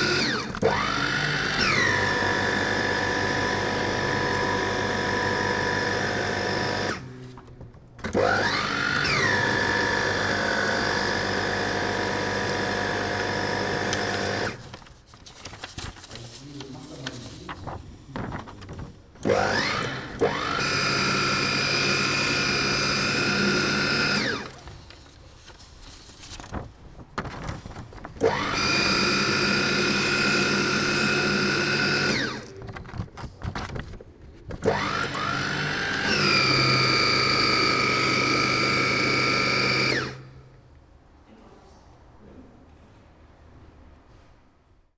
shredder 0.0 - 7.1
shredder 8.0 - 14.8
shredder 19.2 - 24.6
shredder 28.2 - 32.6
shredder 34.6 - 40.3

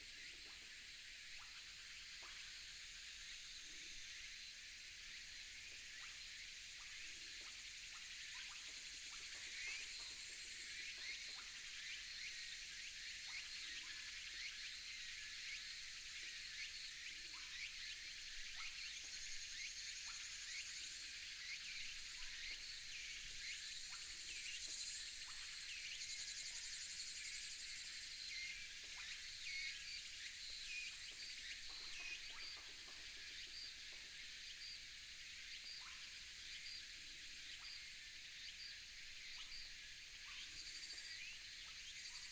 Insects sound 5.1 - 42.3

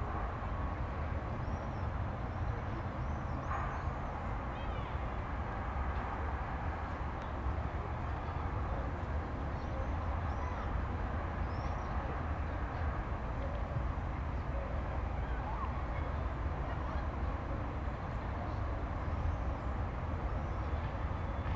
city sounds in the distance 0.0 - 21.5

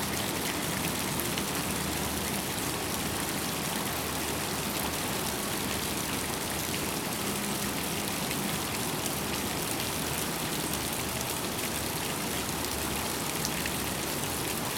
Fountains 0.0 - 14.7

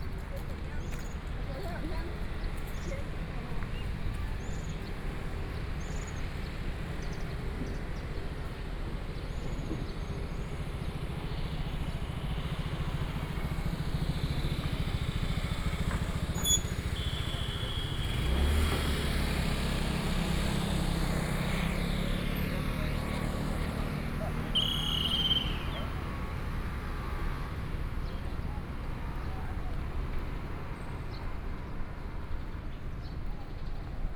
Traffic Sound 0.0 - 34.1
walking on the Road 0.0 - 34.1
Tourists 19.1 - 34.1
Birdsong 24.6 - 25.9

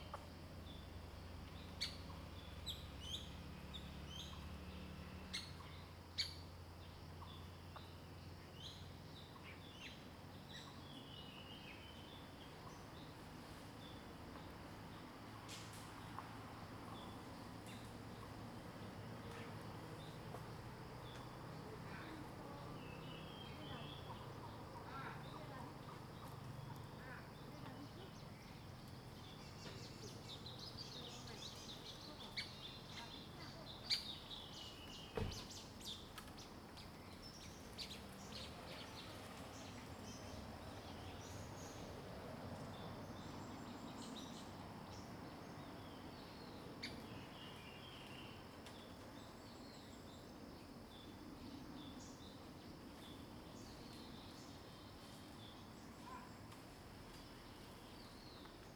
Traffic Sound 14.2 - 47.4
Bird sounds 21.0 - 58.7

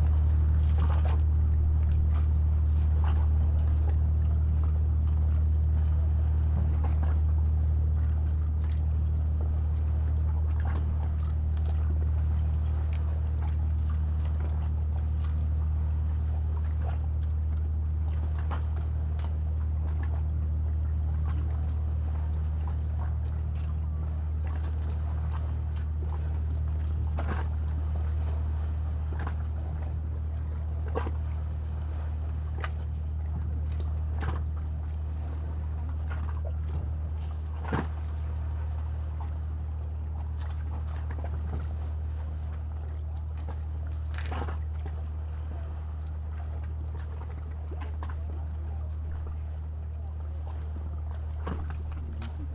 tour boat departing 0.0 - 52.5

